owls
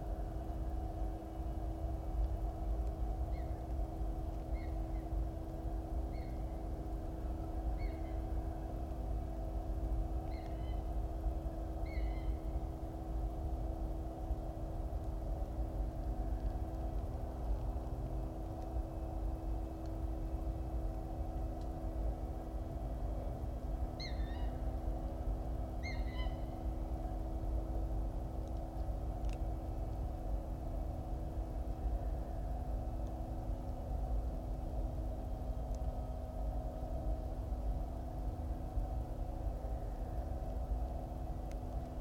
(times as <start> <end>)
4.5 5.1, 7.7 8.3, 10.3 10.9, 11.8 12.5, 24.0 24.6, 25.8 26.6